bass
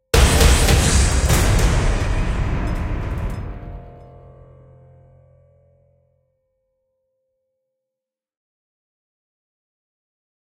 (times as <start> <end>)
0.1 6.1